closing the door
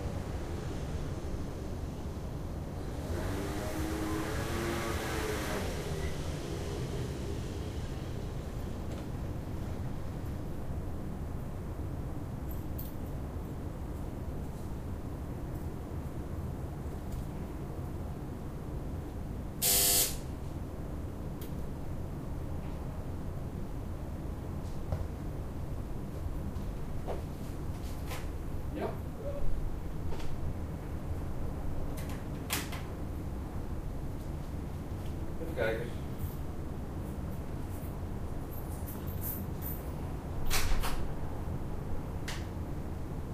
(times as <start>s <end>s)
40.4s 41.1s